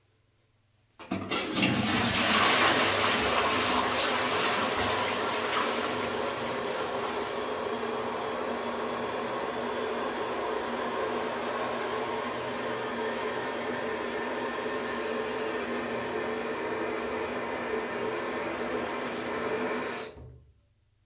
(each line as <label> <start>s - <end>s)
Toilet flush 1.0s - 20.4s
filling of the tank 1.1s - 9.0s